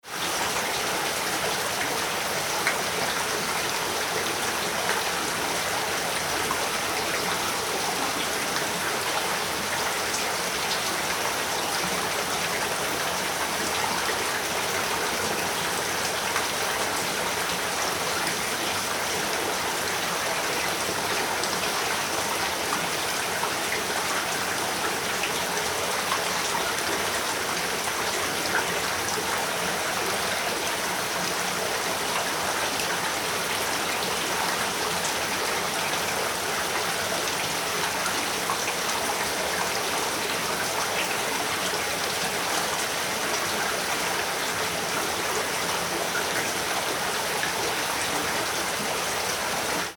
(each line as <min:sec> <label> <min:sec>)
0:00.0 stream 0:49.9